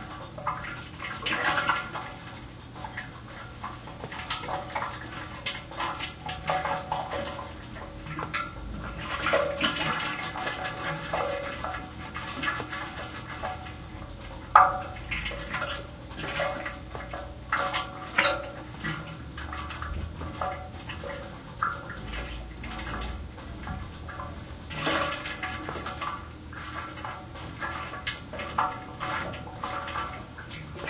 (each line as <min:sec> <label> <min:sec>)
0:00.0 radiator filling up 0:30.8